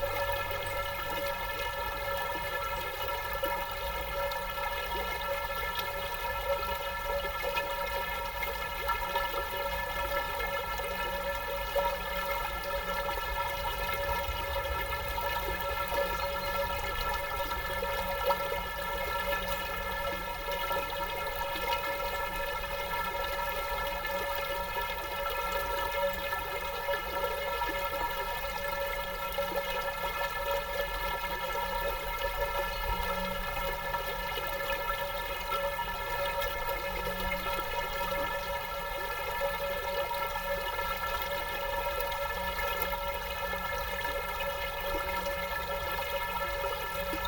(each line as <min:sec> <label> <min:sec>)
0:00.0 metallic pipe in the river 0:47.2